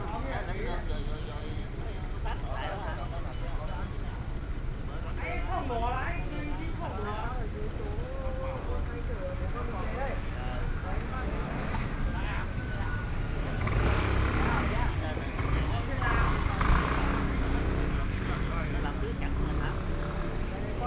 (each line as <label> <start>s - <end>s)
Traffic Sound 8.6s - 20.8s